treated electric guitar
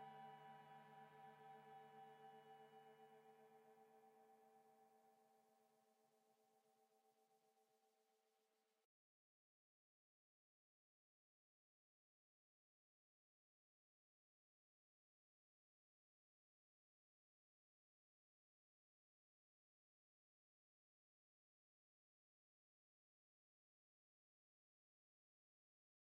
0.0 4.6

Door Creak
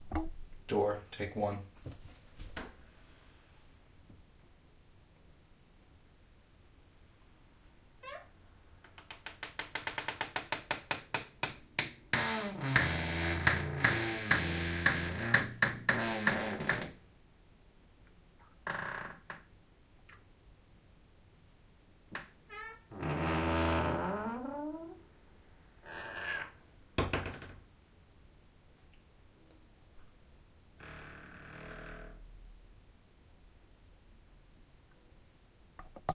8.0 8.3, 12.1 17.0, 18.6 19.5, 22.2 25.0, 25.8 27.6, 30.8 32.2

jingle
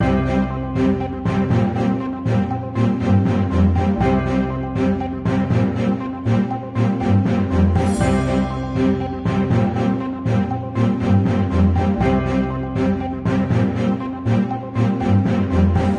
7.0 13.6

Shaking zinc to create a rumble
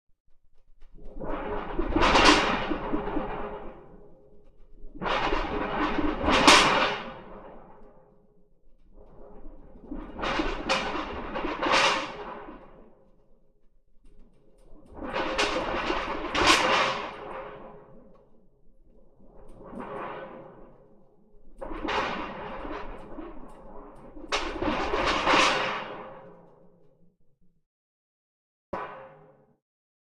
9.7 12.4, 14.7 17.3

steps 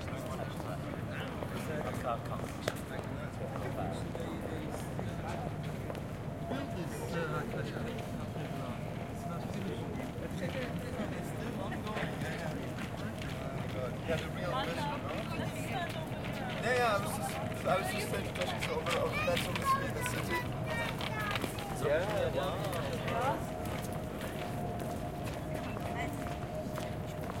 11.8 27.4

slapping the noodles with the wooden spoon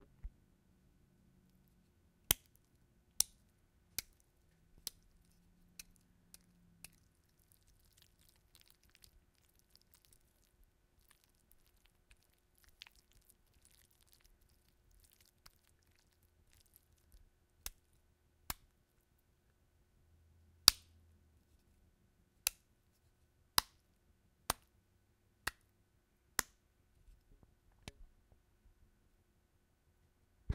4.0 17.8

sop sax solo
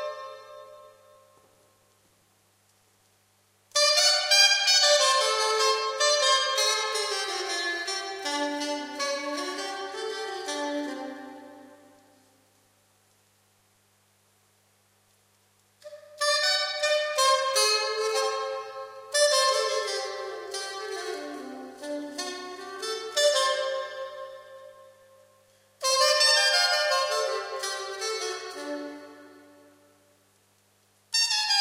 0.0 1.5, 3.7 12.2, 15.8 30.2, 31.1 31.6

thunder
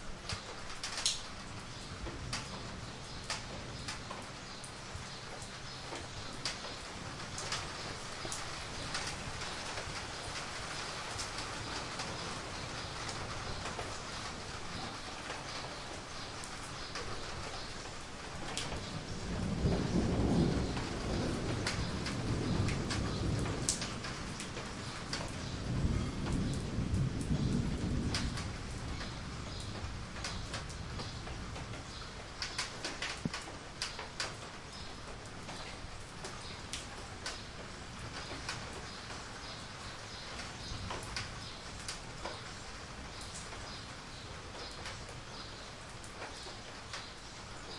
18.8 31.7

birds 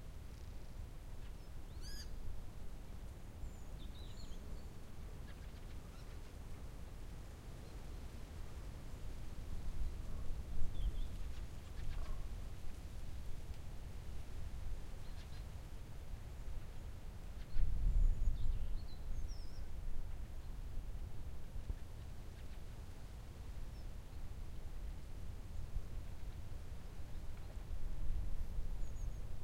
1.2 2.2, 3.4 6.4, 9.8 12.4, 14.9 15.6

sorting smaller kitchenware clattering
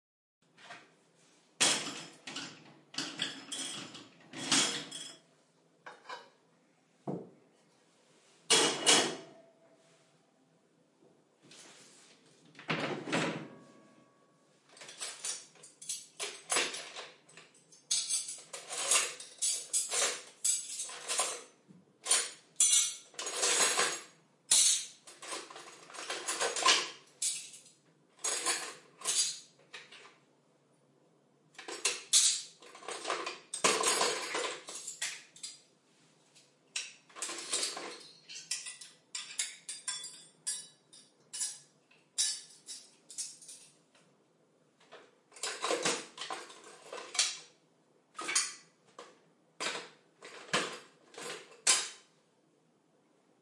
1.6 6.5, 8.4 9.6, 14.7 30.2, 31.5 35.6, 36.7 43.8, 45.0 52.1

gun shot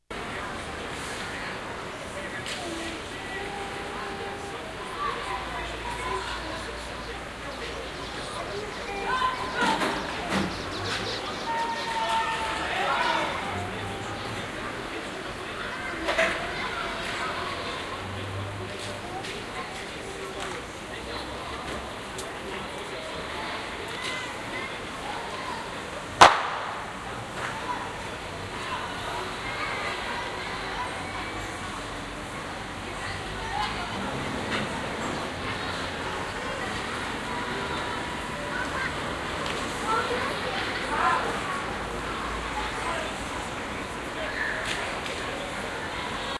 26.2 26.8

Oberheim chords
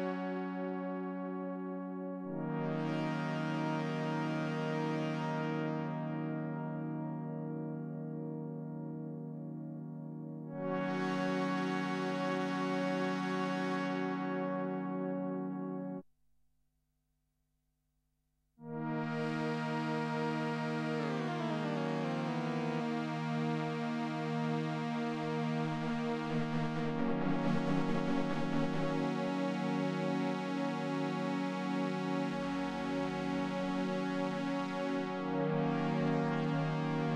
18.7 30.4

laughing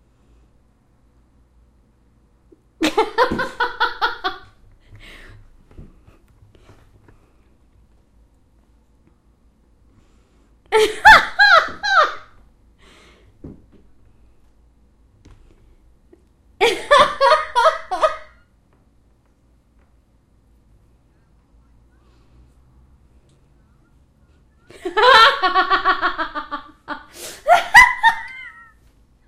23.4 28.8

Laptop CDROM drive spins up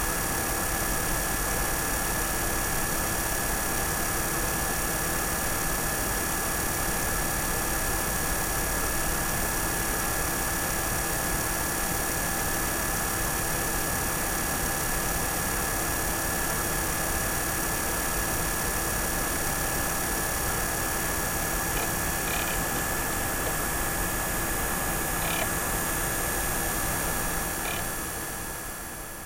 16.4 28.8

